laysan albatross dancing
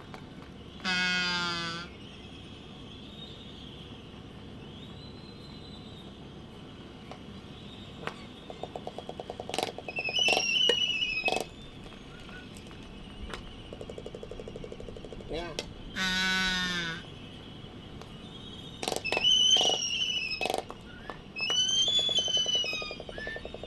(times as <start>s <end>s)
7.1s 16.7s, 18.8s 23.6s